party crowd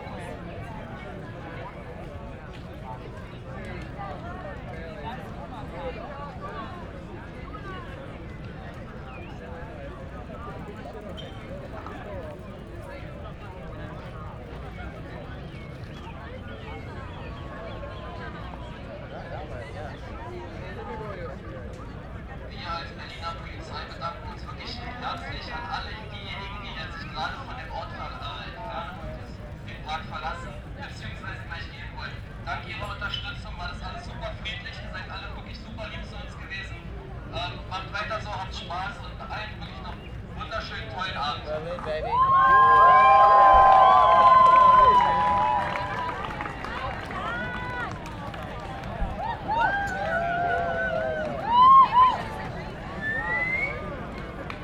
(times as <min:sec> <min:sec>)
0:39.7 0:54.6